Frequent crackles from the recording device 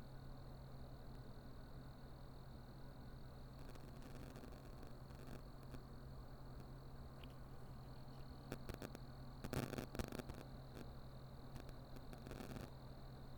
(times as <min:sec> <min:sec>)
0:03.3 0:13.3